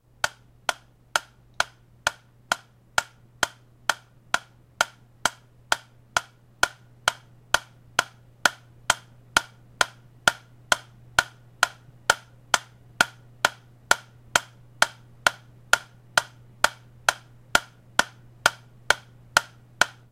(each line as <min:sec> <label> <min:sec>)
0:00.0 real metronome 0:20.1